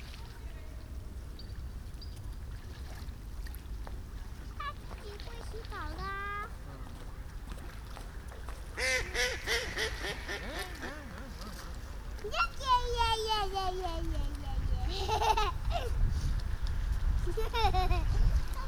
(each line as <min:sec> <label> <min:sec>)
0:08.8 ducks 0:11.8